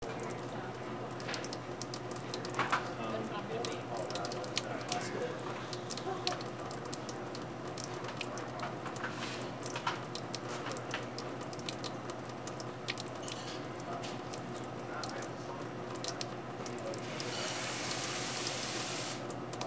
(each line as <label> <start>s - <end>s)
water pouring into a sink 0.0s - 19.6s